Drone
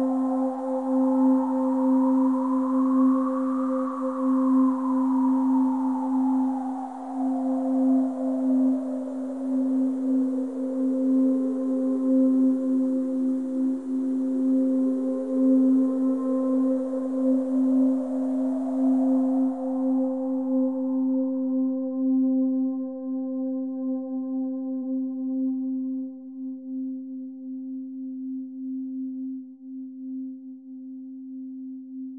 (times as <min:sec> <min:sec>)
0:00.0 0:22.6